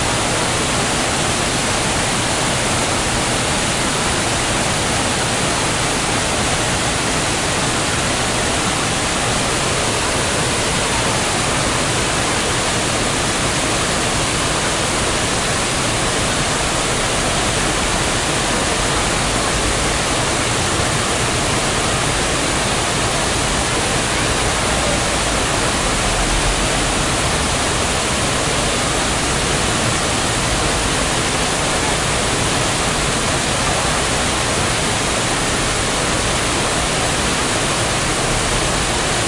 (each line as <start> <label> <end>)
0.0 Noisy water fall 39.2